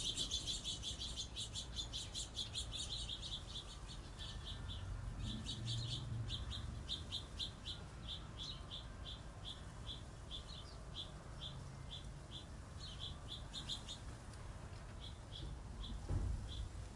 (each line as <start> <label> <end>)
0.0 Sparrows 16.9